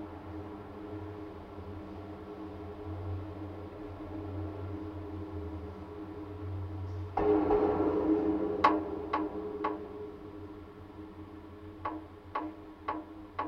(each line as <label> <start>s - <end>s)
metallic constructions of the bridge 6.3s - 13.4s